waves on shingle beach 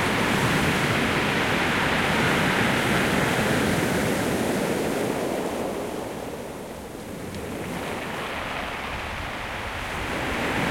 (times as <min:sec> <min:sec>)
0:07.5 0:10.7